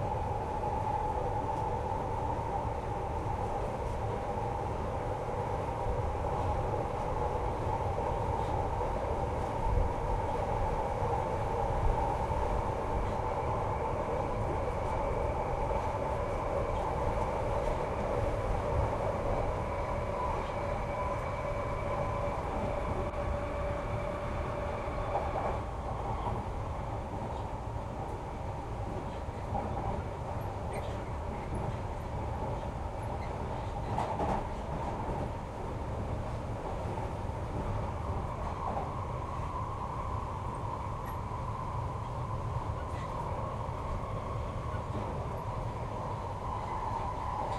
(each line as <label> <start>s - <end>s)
train 0.0s - 47.5s